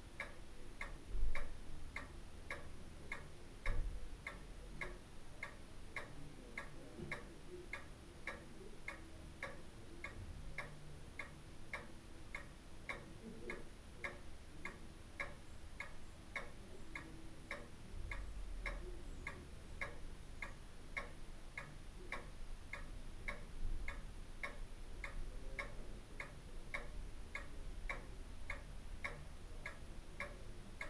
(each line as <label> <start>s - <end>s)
ticking of a wall mounted pendulum clock 0.1s - 30.8s